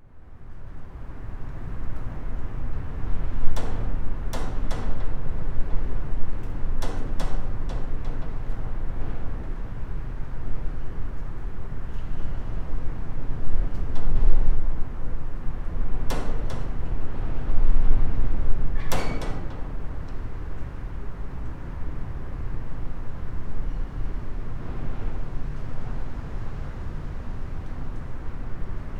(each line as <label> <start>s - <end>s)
wind 0.0s - 28.9s
train passes 19.7s - 28.9s